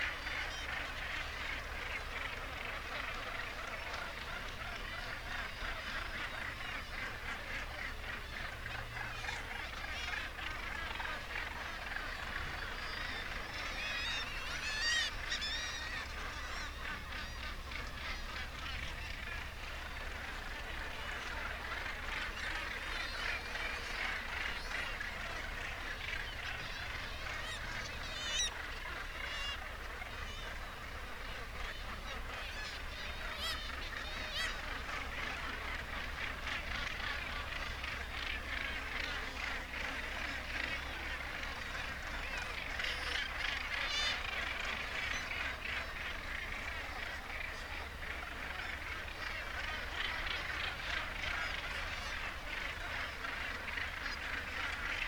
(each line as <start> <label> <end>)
0.0 gannet calls and flight calls 55.0